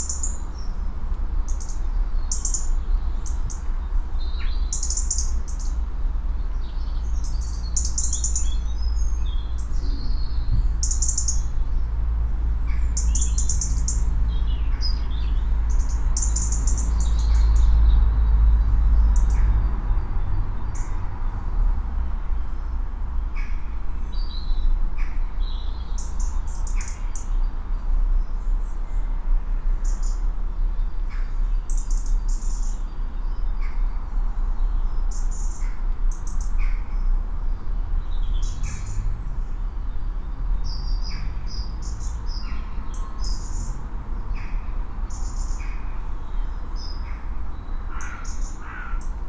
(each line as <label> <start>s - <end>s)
song birds 0.0s - 49.2s
loud crows 47.9s - 49.2s